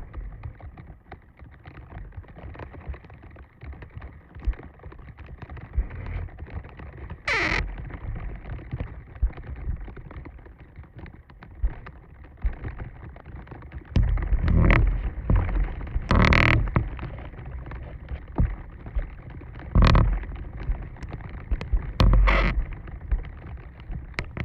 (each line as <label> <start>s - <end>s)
Tree branch brushing against wooden fence, creaking 14.0s - 18.6s
Tree branch brushing against wooden fence, creaking 21.6s - 22.7s